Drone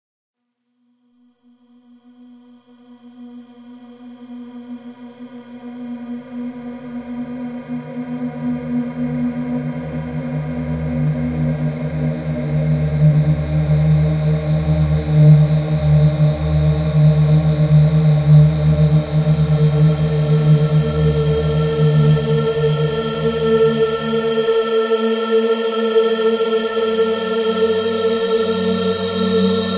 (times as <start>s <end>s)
25.6s 29.7s